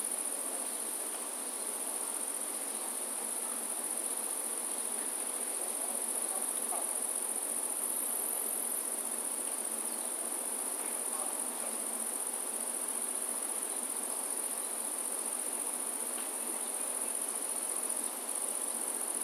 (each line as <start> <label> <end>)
0.0 Insects 19.2